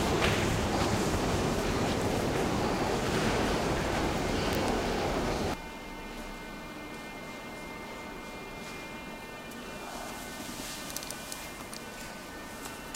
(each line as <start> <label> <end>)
0.0 descent on escalator 5.6
0.0 train 5.6